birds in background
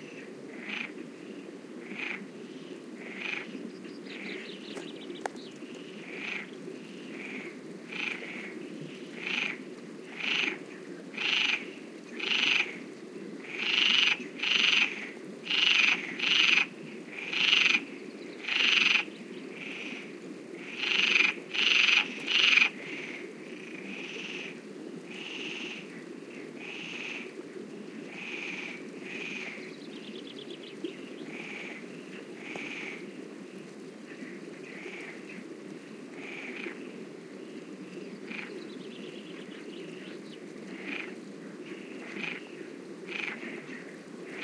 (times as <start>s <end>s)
2.4s 10.9s, 28.4s 35.4s, 36.4s 44.4s